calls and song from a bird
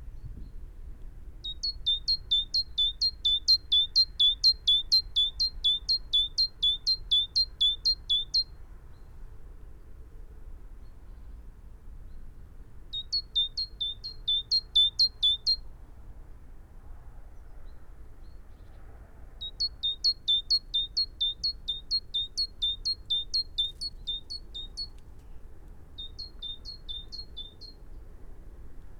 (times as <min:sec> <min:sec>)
0:01.4 0:08.5, 0:12.9 0:15.6, 0:19.4 0:28.0